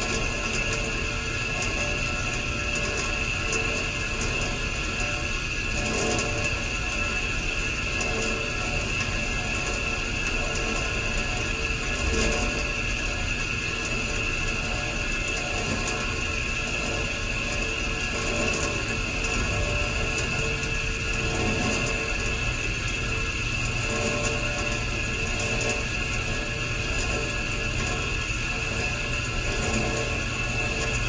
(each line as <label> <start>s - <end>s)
uncooperative radiator 0.0s - 31.0s